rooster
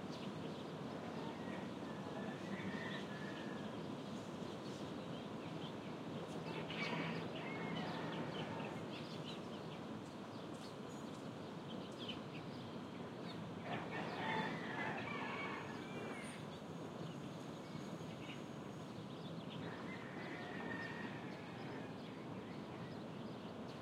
1.2 3.7, 13.6 16.4, 19.7 22.1

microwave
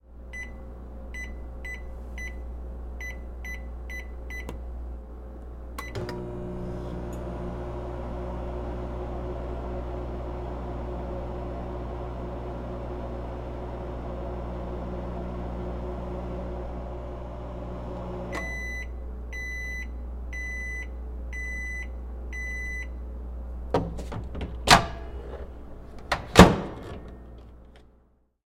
5.7 23.1, 23.7 27.8

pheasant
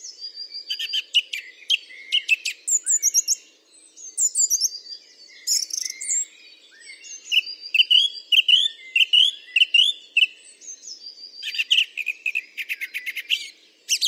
4.1 14.0

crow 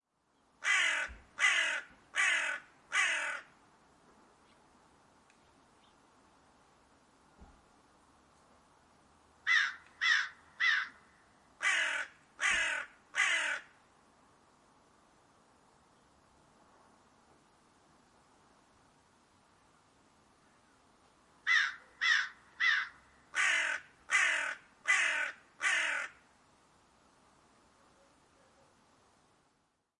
0.6 3.5, 9.5 11.0, 11.6 13.7, 21.5 26.2

